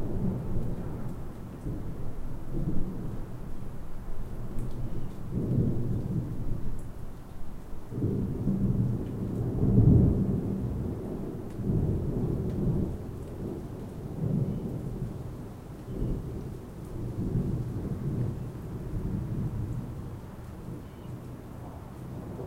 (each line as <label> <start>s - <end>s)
thunder 0.0s - 3.4s
rain 0.0s - 22.4s
thunder 4.4s - 6.6s
thunder 7.9s - 15.2s
thunder 15.9s - 20.1s
thunder 21.6s - 22.4s